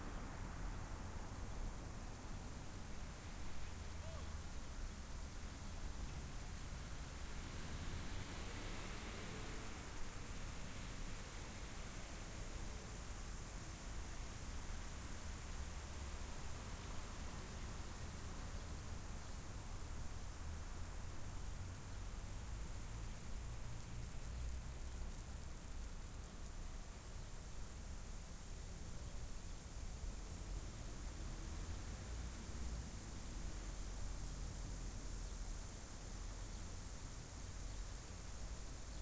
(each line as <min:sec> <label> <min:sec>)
0:00.4 Steady lawn Sprinkler 0:39.0
0:07.1 Car traffic passing by 0:11.7